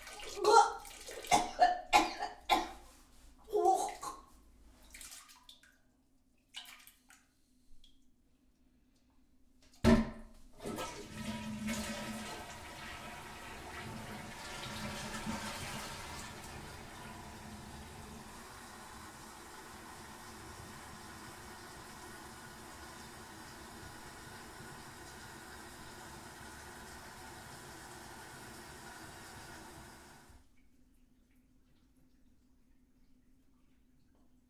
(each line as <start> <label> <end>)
0.1 Woman vomiting into toilet 2.9
3.5 Woman vomiting into toilet 4.3